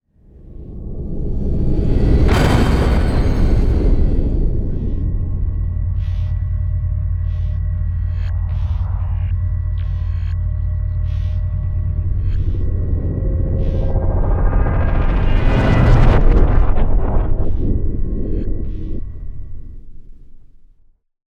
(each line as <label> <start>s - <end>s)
whoosh 0.2s - 7.3s
riser 0.2s - 9.2s
impact 0.3s - 7.3s
explosion 0.3s - 6.4s
metal 0.3s - 7.0s
riser 12.1s - 19.5s
whoosh 12.2s - 19.5s
explosion 13.7s - 18.6s